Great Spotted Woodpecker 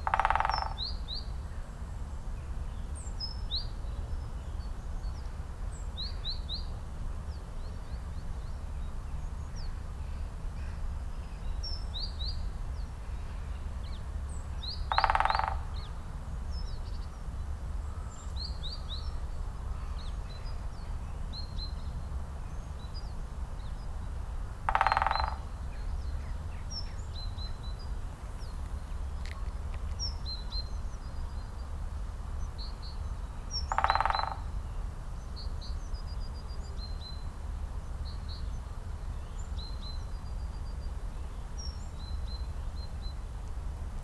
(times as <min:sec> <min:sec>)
0:00.0 0:01.2, 0:13.2 0:17.1, 0:22.5 0:44.0